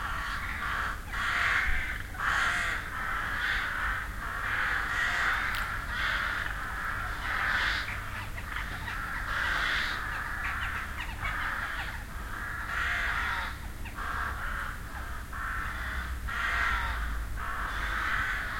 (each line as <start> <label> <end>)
0.0 crows 18.5